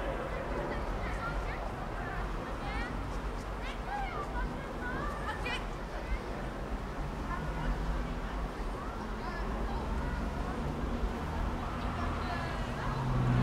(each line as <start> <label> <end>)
0.0 cars 13.4
0.0 children 13.4
0.0 trucks 13.4